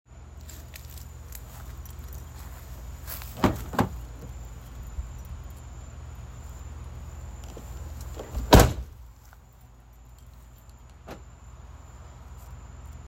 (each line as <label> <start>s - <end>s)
car open & closed 3.3s - 4.4s
car open & closed 7.4s - 9.0s
car open & closed 10.9s - 11.3s